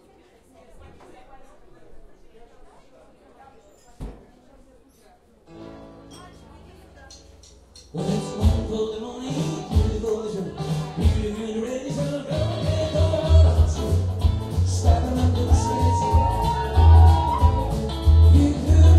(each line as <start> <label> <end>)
0.0 People drink and chatting 18.9
6.1 dishes 6.5
7.9 song 18.9
15.4 People scream 18.1